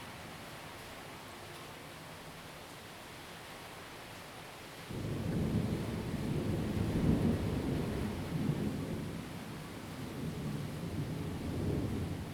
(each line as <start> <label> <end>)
0.0 rain 12.3
0.0 wind 12.3
10.2 Thunderstorms 12.3